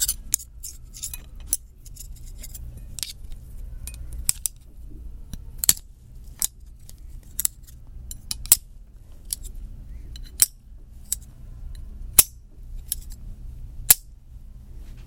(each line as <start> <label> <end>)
0.0 Spoons beating 3.1